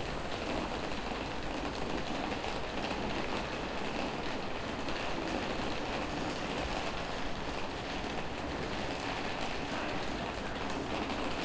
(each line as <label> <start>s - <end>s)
Entering the train 0.0s - 11.4s